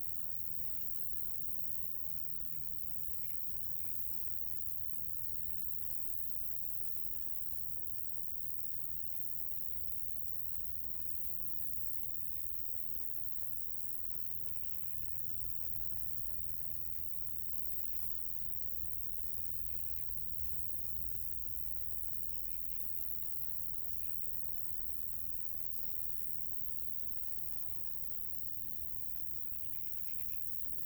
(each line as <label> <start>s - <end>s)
Crickets in the grass 0.0s - 30.8s